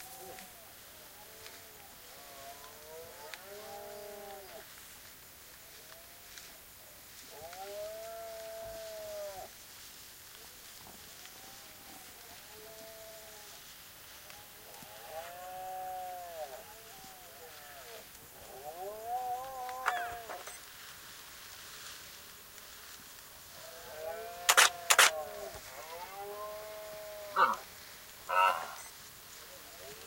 18.4s roaring male Red-deer 20.6s
19.6s takes pictures 20.7s
23.8s roaring male Red-deer 28.9s
24.2s takes pictures 25.8s

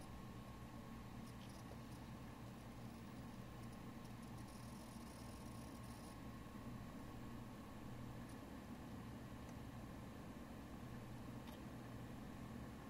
0.0s first gen Mac tower boot cycle, and shut down 12.8s

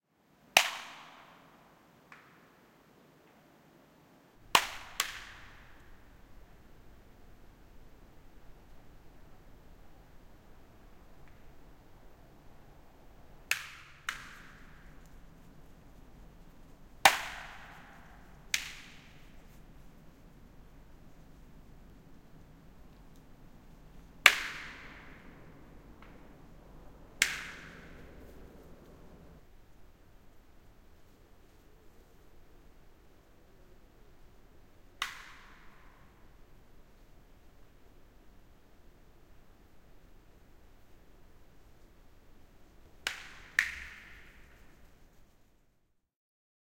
4.5s snapping, popping in the trees 6.9s
13.4s snapping, popping in the trees 19.7s
22.3s snapping, popping in the trees 25.4s
27.2s snapping, popping in the trees 29.0s
35.0s snapping, popping in the trees 36.0s
43.0s snapping, popping in the trees 44.9s

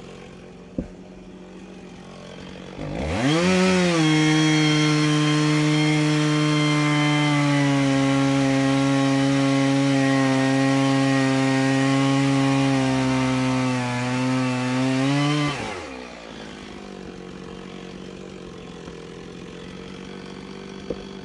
0.0s chainsaw crosscutting dry hardwood branches 21.2s

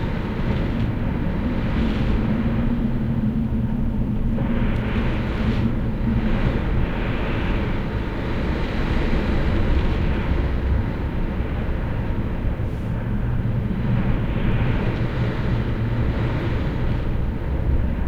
0.0s strong wind blowing on my window 18.0s

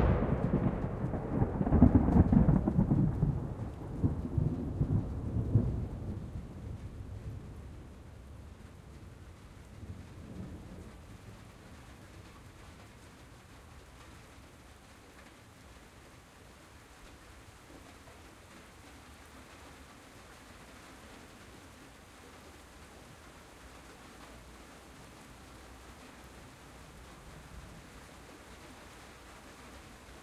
0.0s thunderclaps 13.1s
0.0s rain on tin roof 30.2s

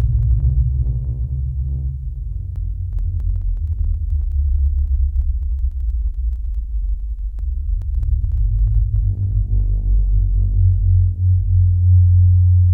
0.0s ASIO driver bugs 10.8s
0.0s sub bass 12.7s

